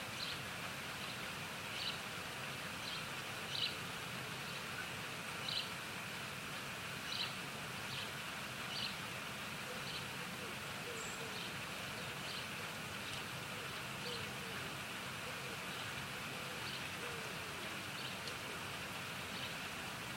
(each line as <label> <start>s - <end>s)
traffic 0.1s - 20.1s
birds 7.0s - 20.1s